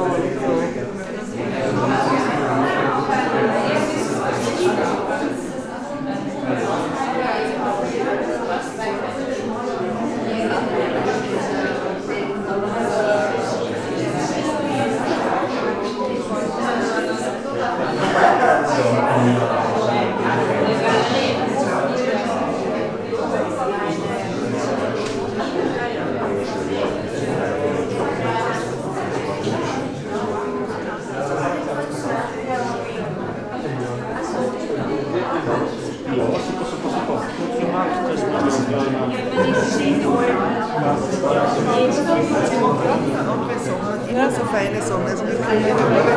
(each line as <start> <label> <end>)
38.0 voices 46.1